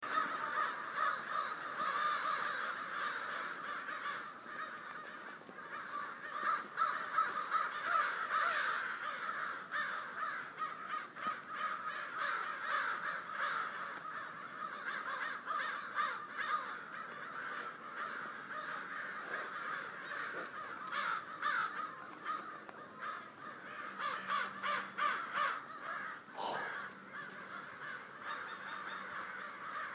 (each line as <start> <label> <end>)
0.0 Crows gather in huge numbers 29.9